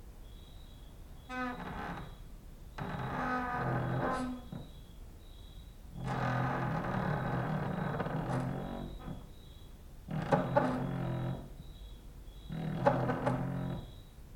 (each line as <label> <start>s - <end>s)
cricket outside 0.1s - 14.3s
creaking with wooden doors 1.2s - 14.2s